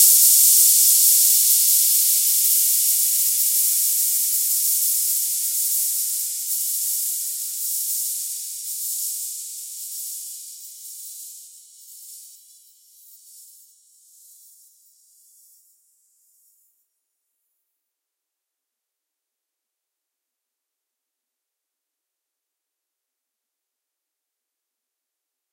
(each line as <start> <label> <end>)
0.0 rivets rattling on the surface of the cymbal 14.6